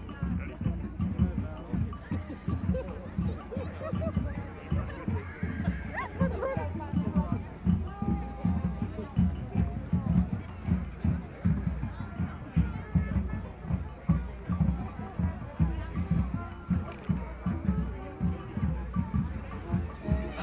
sheep flock 0:02.0 - 0:09.0

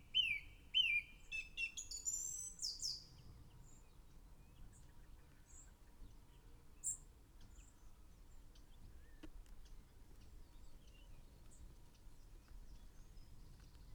song thrush in song 0:00.0 - 0:04.9

